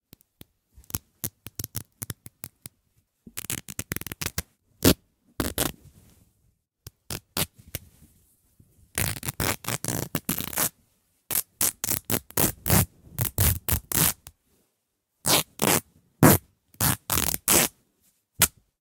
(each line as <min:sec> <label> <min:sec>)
0:03.4 Ripping a fabric bedsheet 0:05.8
0:09.0 Ripping a fabric bedsheet 0:10.7
0:11.3 Ripping a fabric bedsheet 0:14.3
0:15.2 Ripping a fabric bedsheet 0:17.7